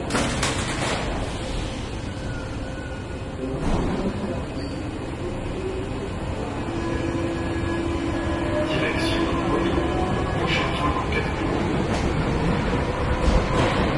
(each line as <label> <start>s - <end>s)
trains arriving 0.0s - 13.9s
trains leaving 0.0s - 13.9s
People talking 8.6s - 11.6s